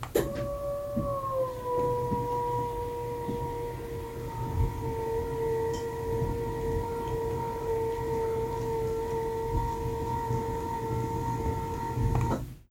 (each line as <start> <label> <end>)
0.0 bed servo motor raising 12.6